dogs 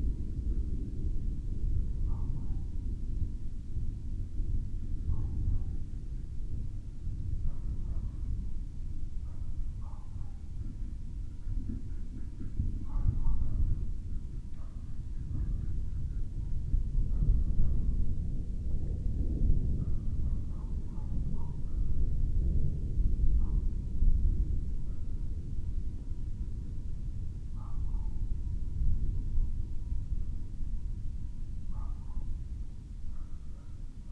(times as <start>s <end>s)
9.1s 18.0s, 19.8s 21.9s, 27.5s 29.6s, 31.7s 32.5s, 33.1s 34.1s